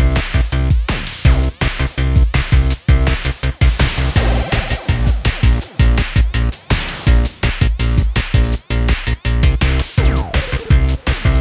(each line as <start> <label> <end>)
0.0 music 11.4